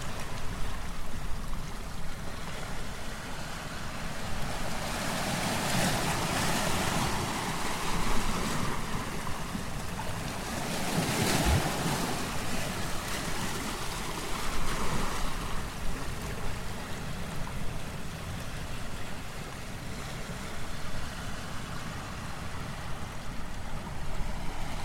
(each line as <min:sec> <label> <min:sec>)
0:00.0 Waves over Tidepool Rocks 0:24.8